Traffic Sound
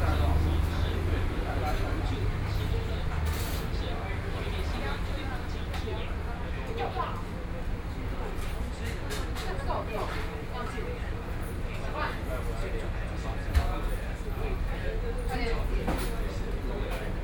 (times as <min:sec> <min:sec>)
0:00.0 0:04.8